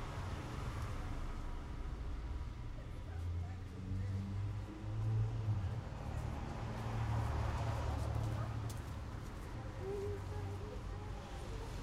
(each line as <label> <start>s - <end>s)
cars in a small street 0.0s - 11.8s